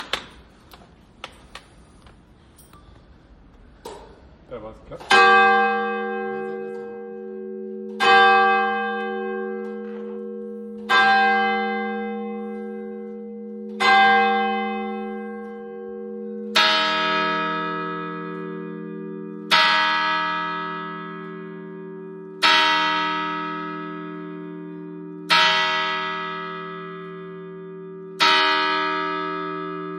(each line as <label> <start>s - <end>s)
church bells 5.0s - 29.9s